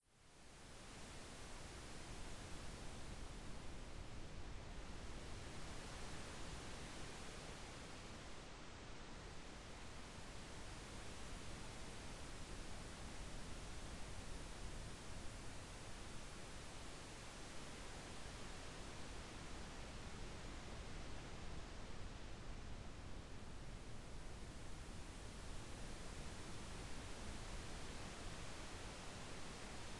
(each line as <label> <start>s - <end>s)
Synthesized leaves in wind 0.0s - 29.9s